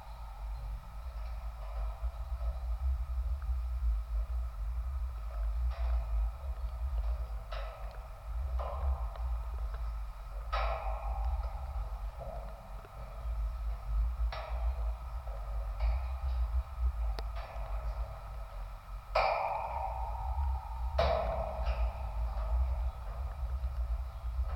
0.0s light rain 24.5s
0.0s metallic football gates 24.5s

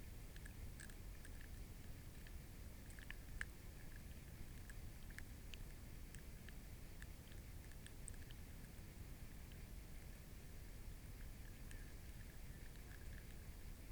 0.2s tadpoles nibbling from a spawn covered branch 13.9s

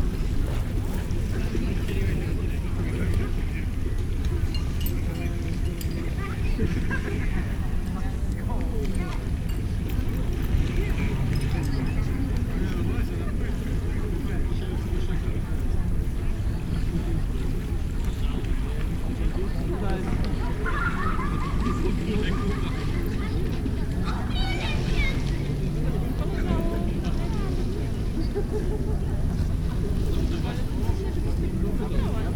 0.0s few people enjoying summer evening 32.3s

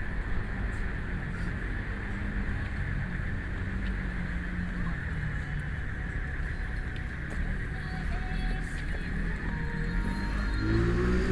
6.0s Traffic Sound 11.3s

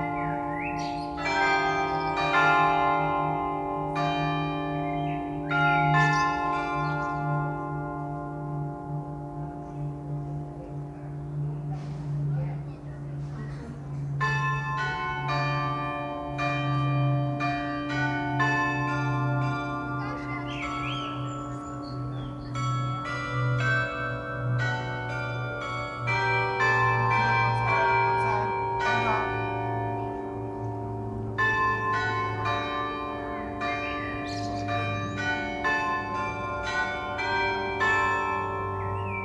0.0s carillon bells 10.7s
0.0s Blackbird song 2.4s
4.8s Blackbird song 7.4s
13.2s carillon bells 39.2s
20.0s Blackbird song 23.0s
34.2s Blackbird song 35.2s
38.6s Blackbird song 39.2s

